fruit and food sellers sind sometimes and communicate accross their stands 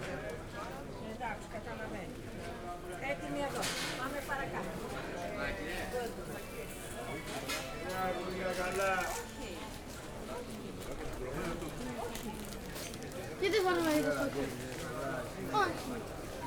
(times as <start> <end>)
5.4 16.4